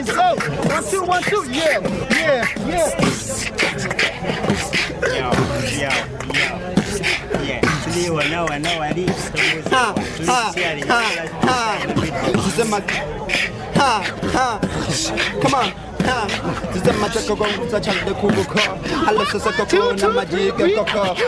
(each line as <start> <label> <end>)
0.0 beat boxing 21.2